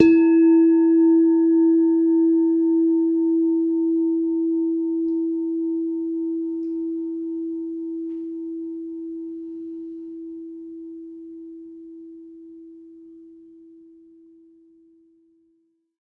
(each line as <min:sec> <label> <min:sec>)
0:00.0 Semi tuned bell tones 0:11.0